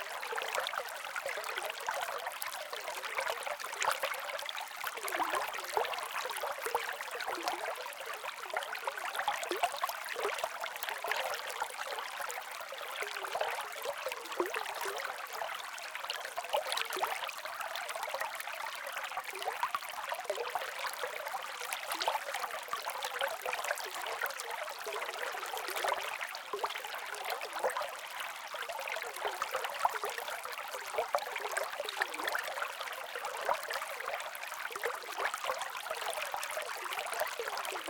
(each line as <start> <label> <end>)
0.0 water flows over rock 37.8